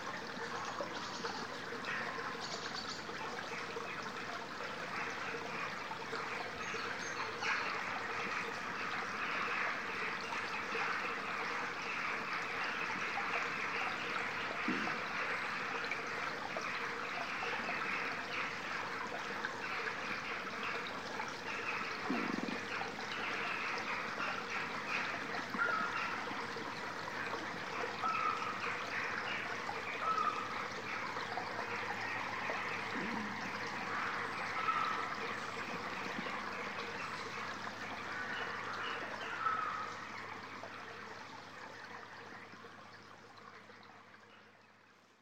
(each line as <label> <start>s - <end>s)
tiny stream 0.0s - 45.2s